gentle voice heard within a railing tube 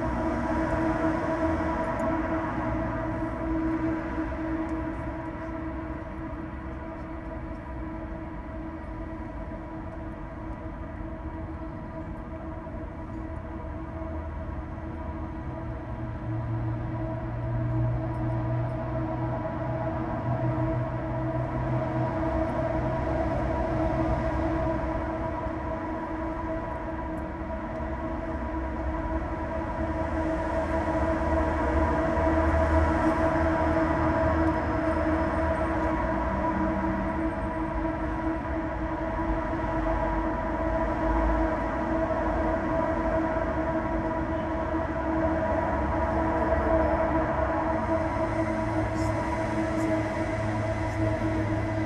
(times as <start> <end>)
43.1 51.8